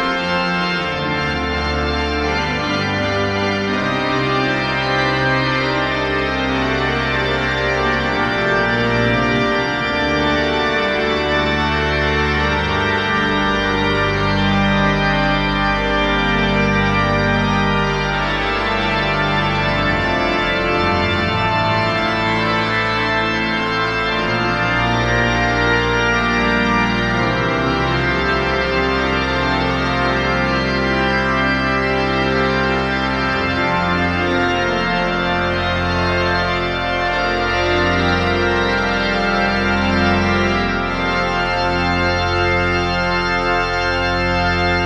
Organ concert 0:00.0 - 0:44.8

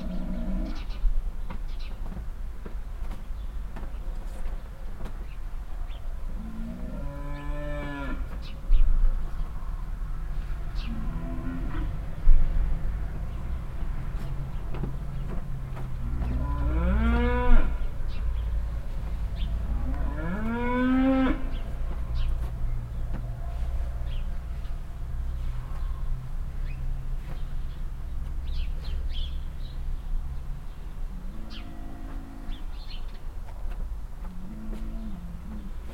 constantly loud mooing cow 0:00.0 - 0:00.9
Cars passing by in the nearby street 0:00.0 - 0:35.9
birds chirping 0:00.0 - 0:35.9
constantly loud mooing cow 0:06.3 - 0:08.4
constantly loud mooing cow 0:10.6 - 0:12.4
constantly loud mooing cow 0:16.0 - 0:18.2
constantly loud mooing cow 0:19.4 - 0:22.3
constantly loud mooing cow 0:31.1 - 0:32.9
constantly loud mooing cow 0:34.2 - 0:35.9

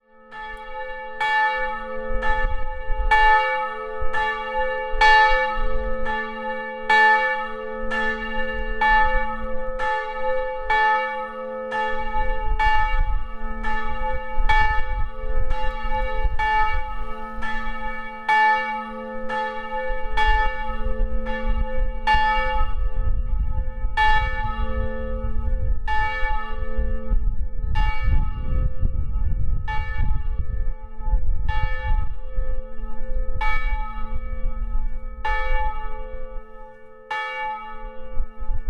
Church bells 0:00.0 - 0:38.6
heavy October winds 0:00.3 - 0:36.5

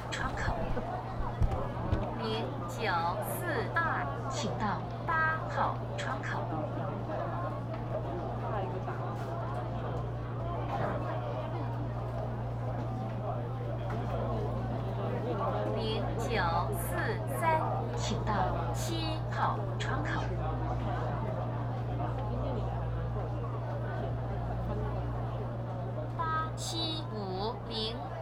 Counter broadcasting 0:26.2 - 0:28.0

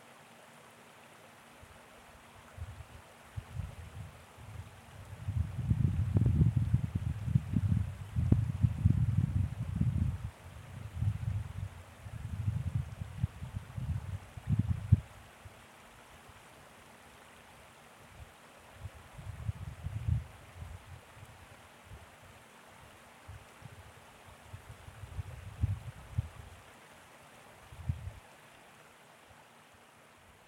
Creek 0:00.0 - 0:30.4
wind noise 0:02.5 - 0:15.6
wind noise 0:18.8 - 0:22.0
wind noise 0:23.2 - 0:26.6
wind noise 0:27.6 - 0:28.2

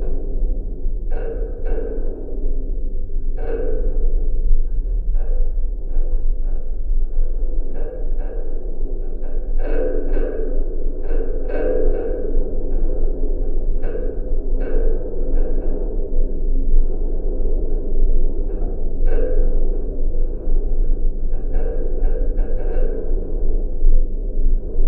abandoned metallic building 0:00.0 - 0:24.8

